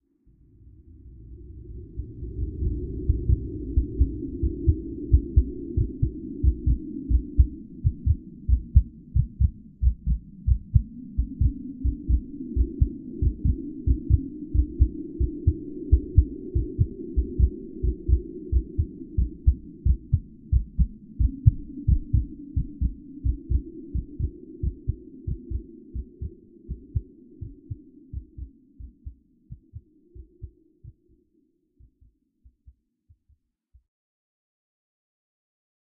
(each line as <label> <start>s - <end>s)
hearbeat 3.0s - 31.1s